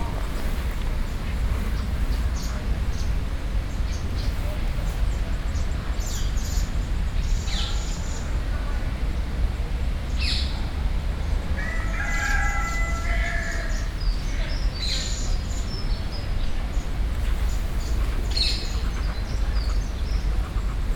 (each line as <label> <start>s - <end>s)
Cock 11.6s - 13.8s
Ducks 17.2s - 20.9s
Goose 17.2s - 20.9s